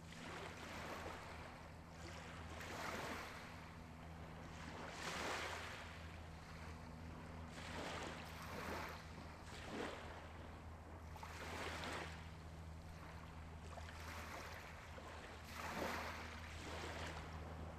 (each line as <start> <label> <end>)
0.1 waves hitting a shore 3.8
4.4 waves hitting a shore 10.3
11.2 waves hitting a shore 17.7